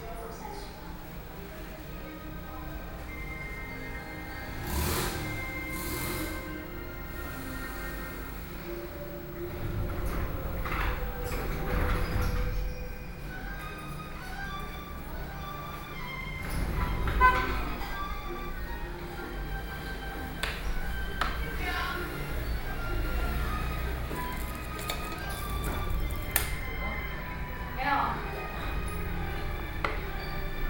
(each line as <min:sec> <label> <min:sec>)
0:00.0 Television sound 0:09.6
0:20.5 Freezer Noise 0:27.3